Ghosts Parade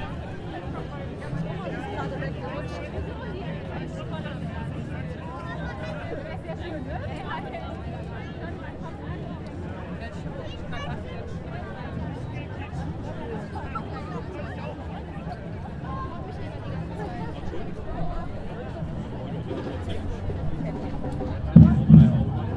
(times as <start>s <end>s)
21.5s 22.5s